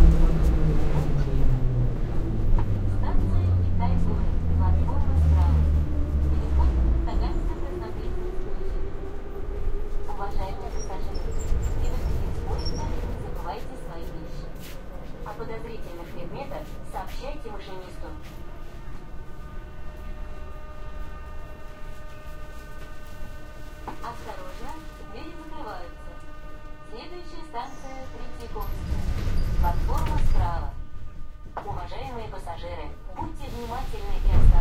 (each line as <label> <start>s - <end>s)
intercom announcements 0.0s - 34.6s
subway train ride 0.0s - 34.6s
people talking 2.9s - 8.8s
people talking 10.1s - 18.3s
people talking 23.9s - 26.2s
people talking 26.9s - 29.0s
people talking 29.6s - 30.8s
people talking 31.6s - 34.6s